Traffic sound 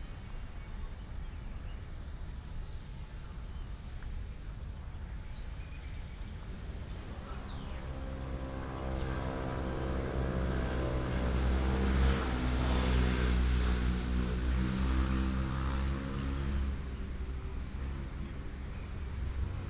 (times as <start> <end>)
6.5 19.6